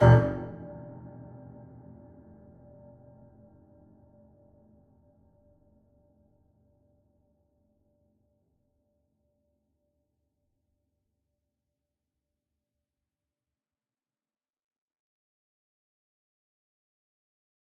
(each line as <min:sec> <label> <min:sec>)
0:00.0 short hit with long reverberant tail 0:02.8